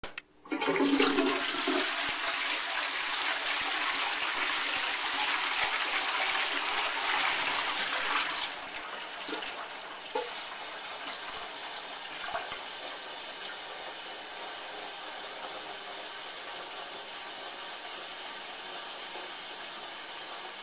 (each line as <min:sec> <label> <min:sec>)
0:00.5 Toilet flushing 0:20.6